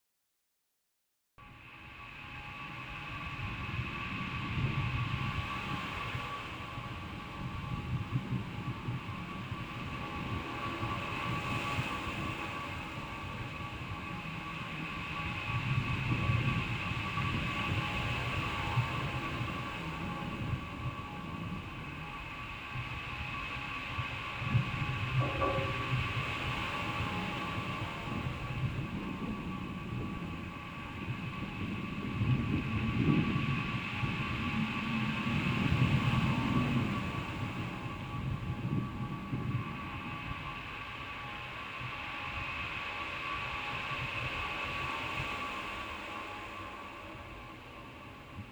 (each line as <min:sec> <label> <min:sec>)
0:25.2 Olas del mar 0:30.8